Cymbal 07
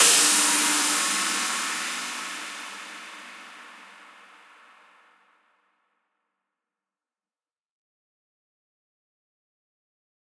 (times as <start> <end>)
0.0 5.1